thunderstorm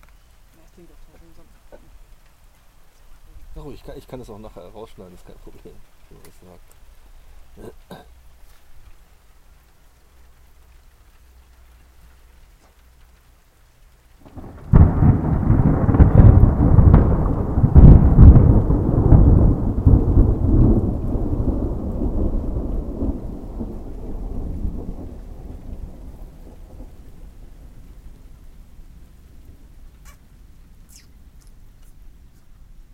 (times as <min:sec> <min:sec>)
0:14.2 0:30.7